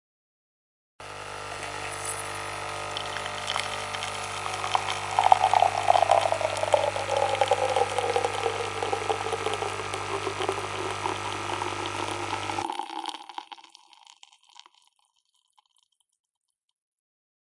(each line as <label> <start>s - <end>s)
Coffeemaker make coffee 1.0s - 16.0s